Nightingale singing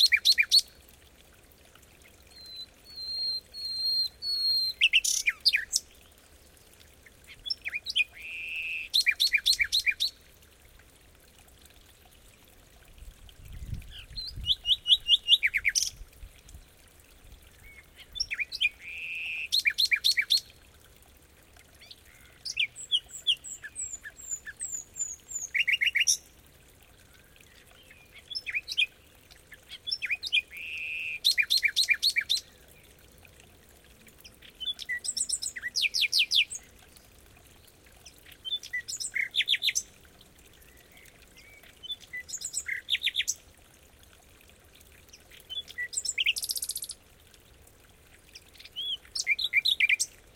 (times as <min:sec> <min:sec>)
0:02.3 0:05.9, 0:07.3 0:10.2, 0:13.7 0:16.0, 0:17.6 0:20.5, 0:21.8 0:26.2, 0:45.5 0:47.0, 0:48.5 0:50.2